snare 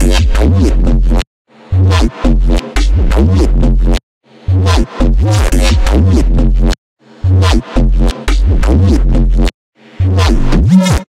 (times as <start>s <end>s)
4.7s 6.2s, 7.4s 9.0s